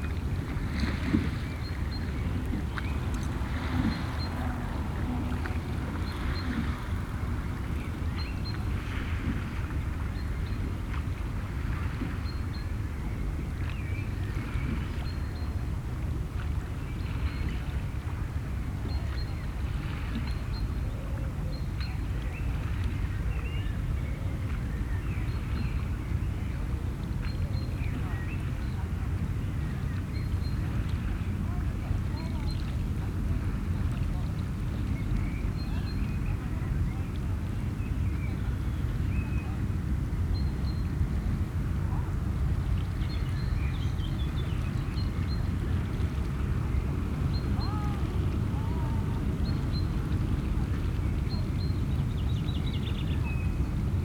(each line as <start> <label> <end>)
0.0 large cargo ships 54.0